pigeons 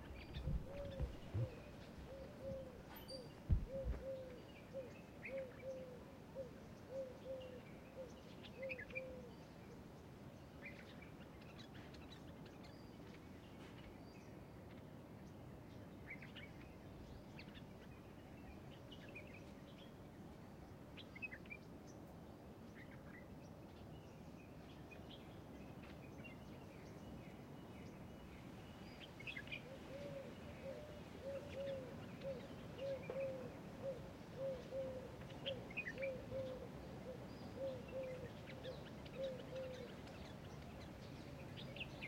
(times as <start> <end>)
0.0 7.6, 29.6 40.8